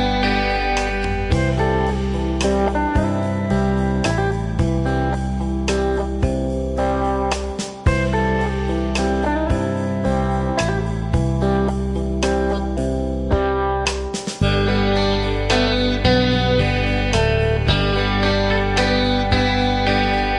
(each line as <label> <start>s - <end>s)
guitar 0.0s - 20.3s
drum 7.3s - 8.4s
drum 13.4s - 14.8s